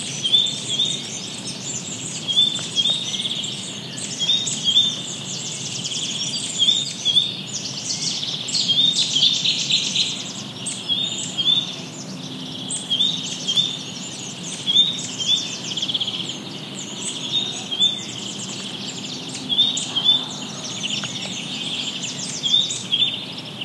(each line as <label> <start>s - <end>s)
Blackbird 0.0s - 23.6s
Great Tit in foreground 0.0s - 23.6s
Warbler 0.0s - 23.6s
distant voices 0.2s - 23.6s
Cuckoo 19.3s - 23.2s